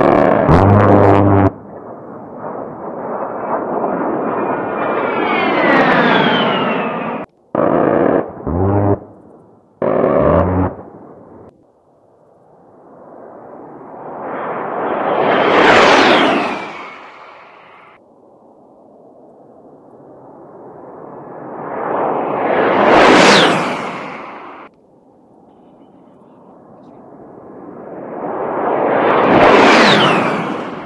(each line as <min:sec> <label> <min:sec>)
0:09.8 Warthog flyby 0:11.4
0:13.2 Warthog flyby 0:17.2
0:26.6 Warthog flyby 0:30.8